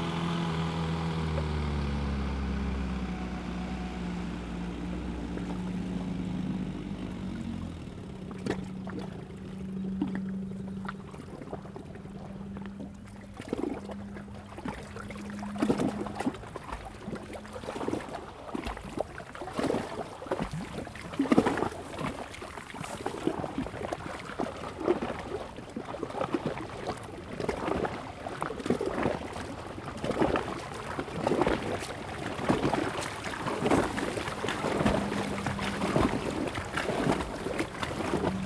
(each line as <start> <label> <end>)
0.0 Dive 38.4
0.0 Powerboats 38.4
0.0 Swim 38.4